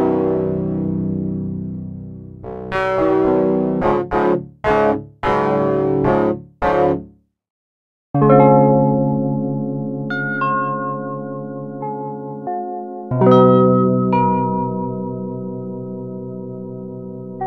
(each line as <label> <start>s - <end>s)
Synth 0.0s - 4.8s